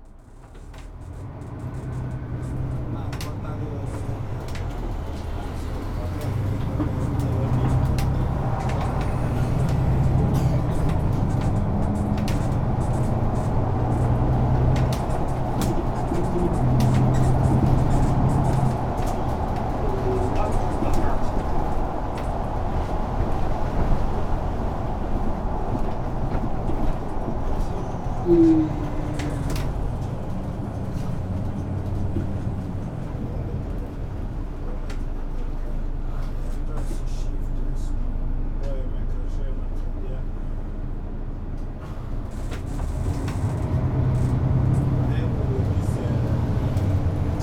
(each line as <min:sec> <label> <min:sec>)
0:00.0 Bus ride 0:47.4